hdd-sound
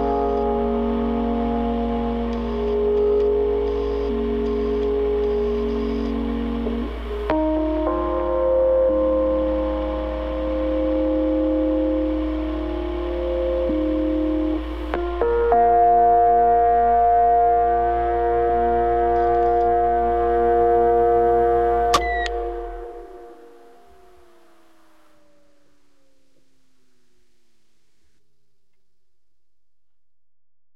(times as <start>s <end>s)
0.0s 8.2s, 17.0s 28.8s